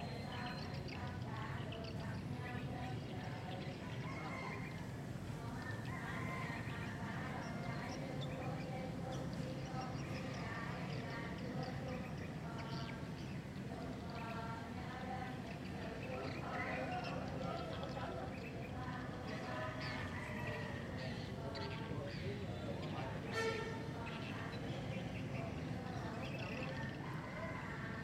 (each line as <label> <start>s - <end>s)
chanting 0.0s - 28.0s
neighbors talking 0.0s - 28.0s
street sound 0.0s - 28.0s
swift farm 0.0s - 28.0s